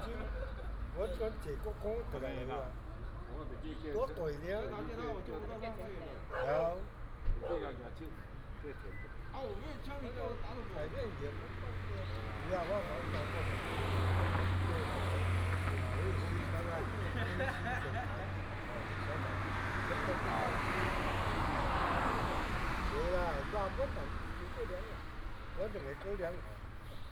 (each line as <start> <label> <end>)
0.0 traffic sound 27.1
6.3 Dog barking 6.6